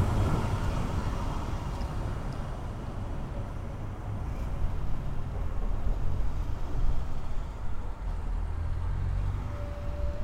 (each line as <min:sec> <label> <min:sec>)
0:00.0 tram sounds 0:06.6
0:09.1 tram sounds 0:10.2